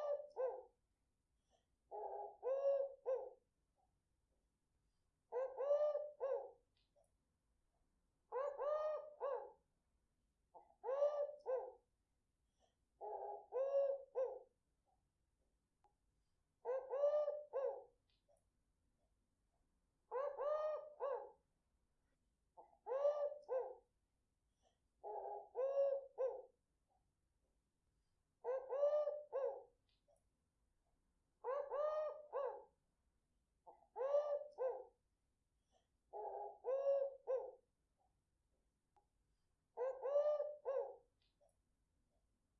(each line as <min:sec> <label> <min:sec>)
0:00.0 Dove Callling 0:00.6
0:05.3 Dove Callling 0:06.4
0:08.3 Dove Callling 0:09.4
0:10.8 Dove Callling 0:11.6
0:16.6 Dove Callling 0:17.8
0:20.1 Dove Callling 0:21.2
0:22.9 Dove Callling 0:23.7
0:28.4 Dove Callling 0:29.6
0:31.4 Dove Callling 0:32.6
0:34.0 Dove Callling 0:34.8
0:39.8 Dove Callling 0:40.9